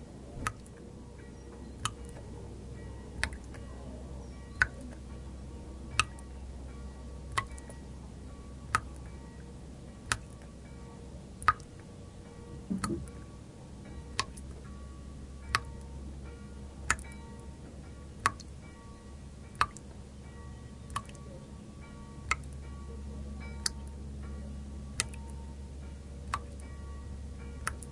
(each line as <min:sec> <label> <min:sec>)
0:00.0 Waterdrops indoor 0:22.7
0:00.9 churchbells from far away 0:10.0
0:12.1 churchbells from far away 0:27.6
0:23.5 Waterdrops indoor 0:24.3
0:24.9 Waterdrops indoor 0:27.9